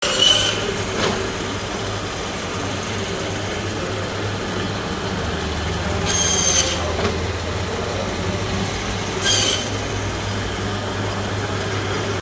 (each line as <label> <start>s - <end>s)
electric butcher's bone saw cutting through some meat and bones 0.0s - 0.8s
electric butcher's bone saw cutting through some meat and bones 6.0s - 6.9s
electric butcher's bone saw cutting through some meat and bones 9.0s - 9.9s